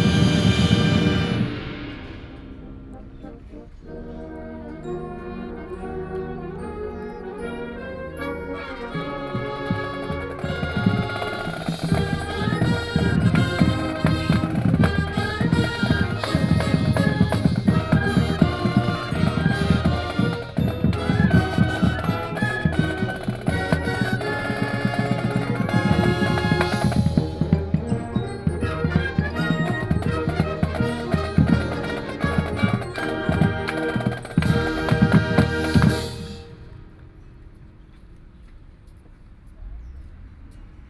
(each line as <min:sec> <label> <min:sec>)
0:00.0 High school marching band is practicing 0:37.0